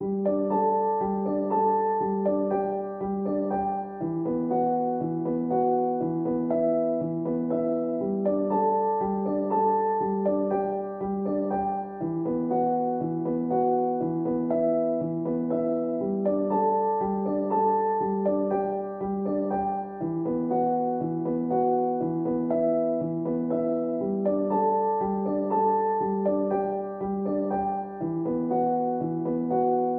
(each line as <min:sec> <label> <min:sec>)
0:00.0 piano 0:29.9